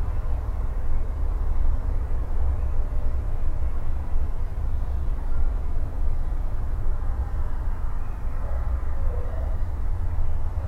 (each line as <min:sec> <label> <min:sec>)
0:00.0 cars and trucks running over a distant road 0:10.6